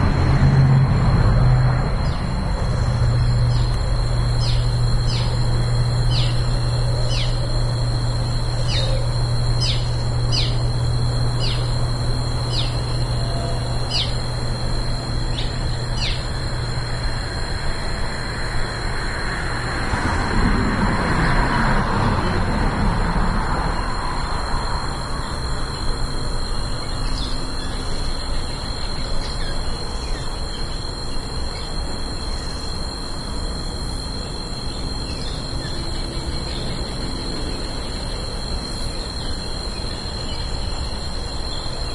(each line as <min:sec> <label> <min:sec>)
0:00.0 cars 0:06.3
0:00.0 crickets 0:41.9
0:19.4 cars 0:25.2